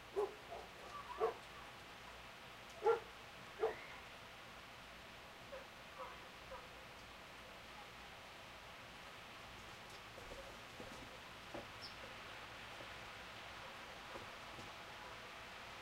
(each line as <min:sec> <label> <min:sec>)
0:00.0 rain 0:15.8
0:00.1 dogs 0:01.4
0:02.8 dogs 0:03.8
0:05.5 dogs 0:06.9
0:11.6 birds 0:12.1